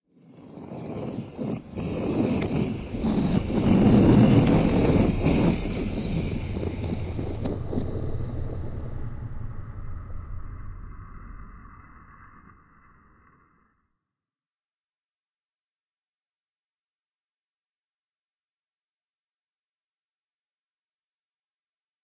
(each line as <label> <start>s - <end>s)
giant airship flying by 1.3s - 13.2s